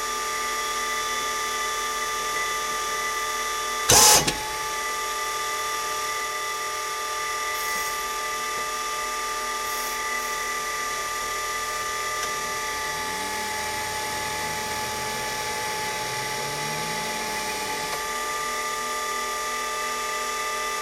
0.0s forklift 20.8s
11.9s hydraulic movement 18.1s

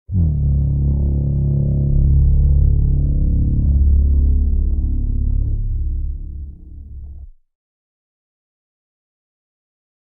0.1s Horn 4.0s

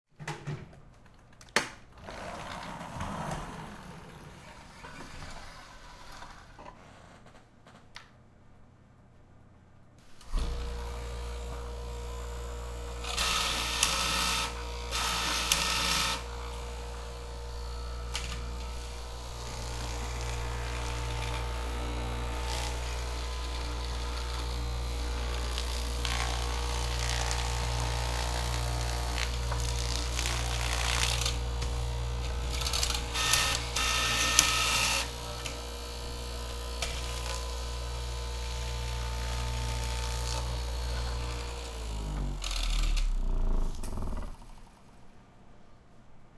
10.1s Straight Knife Machine 44.5s

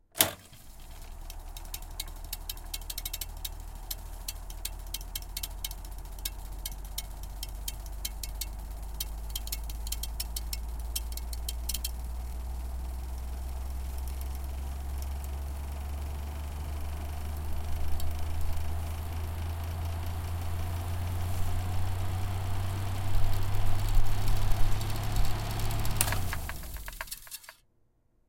0.1s reel to reel tape machine start stop rewind 27.6s

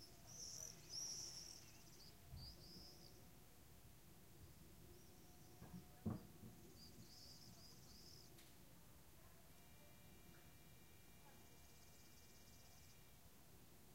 0.0s swifts are flying nearby 3.3s
9.6s swifts are flying nearby 13.2s

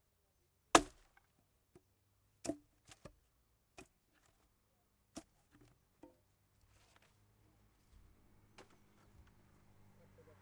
0.7s chopping fire wood with axe 1.3s

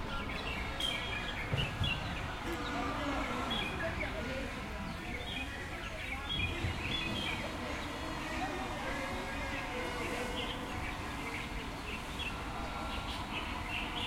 0.0s chatting of passerby 14.0s
0.0s distant construction 14.0s
0.0s traffic 14.0s

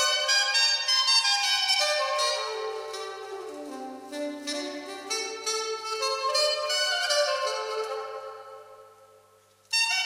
0.0s sop sax solo 10.0s

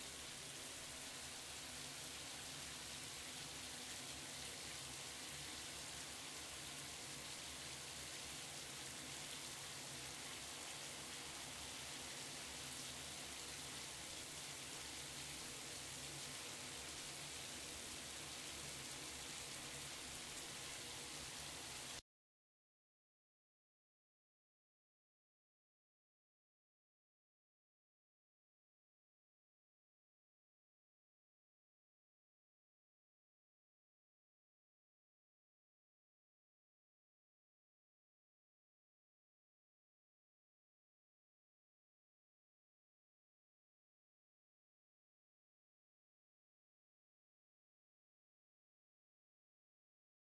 0.0s shower 22.0s

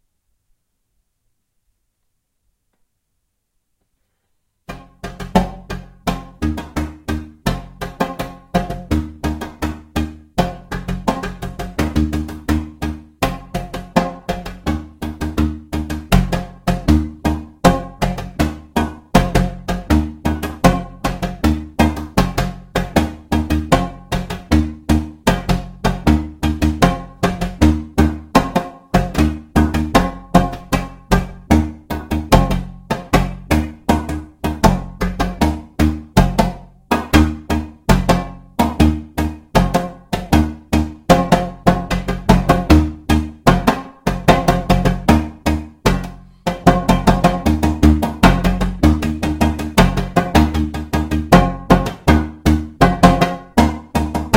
4.7s Two djembes played by myself improvisationally 54.3s

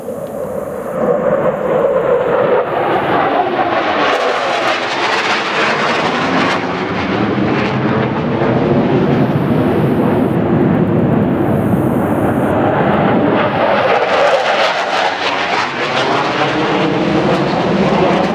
0.0s double fighter jet fly over 18.3s

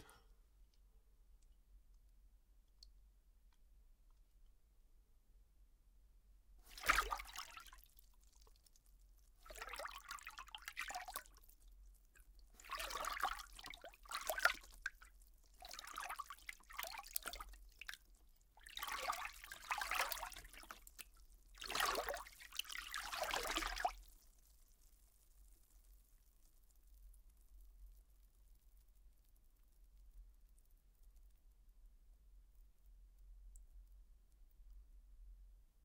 6.7s swimming 7.9s
6.7s splashing 7.7s
9.4s swimming 11.3s
12.6s swimming 14.7s
18.6s swimming 21.0s
21.6s swimming 24.0s
21.6s splashing 23.9s

